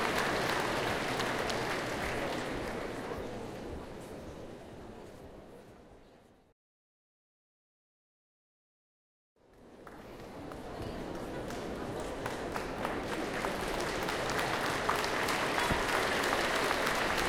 0.0s People claping while waiting for show 3.3s
9.5s People claping while waiting for show 17.2s
14.7s cheers 17.2s

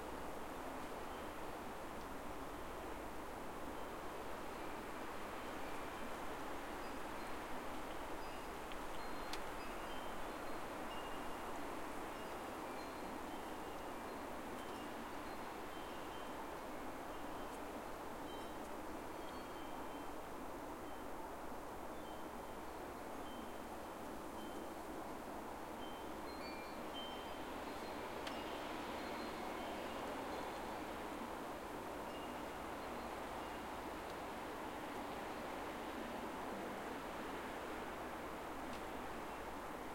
0.0s Leaves on a tree hissing in strong wind 39.9s
4.5s windchimes 21.3s
21.9s windchimes 24.9s
25.6s windchimes 35.9s

